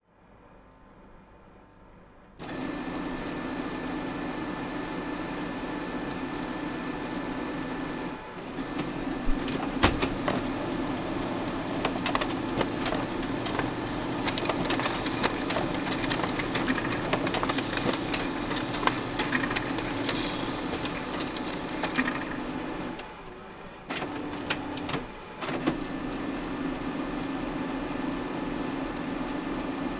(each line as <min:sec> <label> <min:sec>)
0:02.4 laser printer 0:29.9